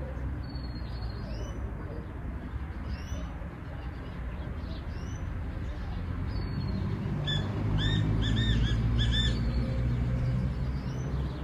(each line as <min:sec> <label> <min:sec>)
0:00.0 voices in the distance 0:10.3
0:00.0 other birds 0:11.4
0:00.0 traffic 0:11.4
0:07.2 call of a black francolin 0:09.5